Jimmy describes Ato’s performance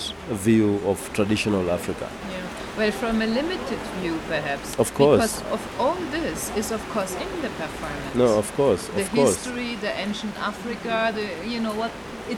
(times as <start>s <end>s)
0.0s 2.2s, 4.8s 5.4s, 8.1s 9.4s